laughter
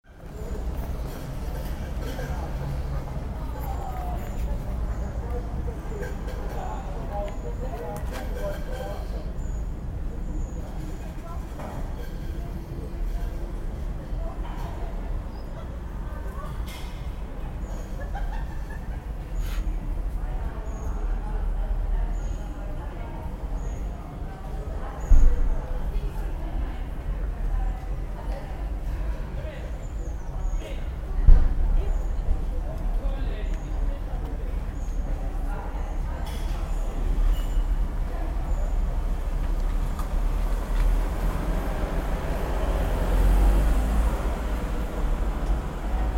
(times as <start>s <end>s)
17.9s 19.2s